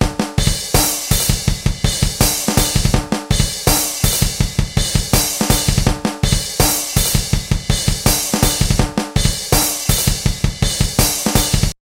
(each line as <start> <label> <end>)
0.0 bass 11.7
0.0 Drum loop 8 11.8